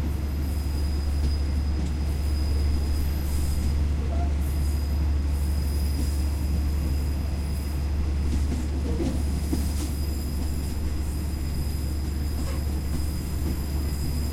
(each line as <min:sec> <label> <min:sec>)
0:00.0 Thai train departing from the train station 0:14.3